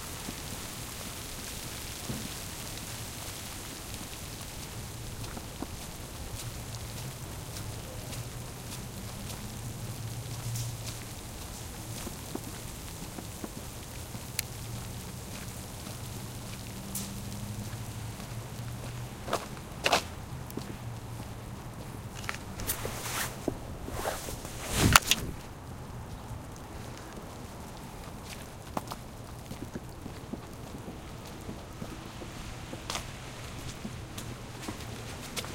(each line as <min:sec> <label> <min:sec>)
0:00.0 small snow storm start and stop 0:35.5